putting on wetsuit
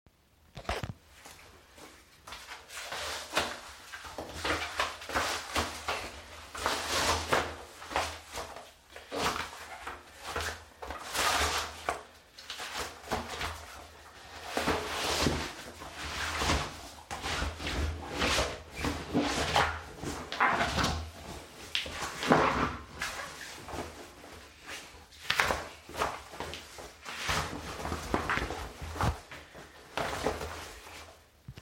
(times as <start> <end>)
14.4 31.6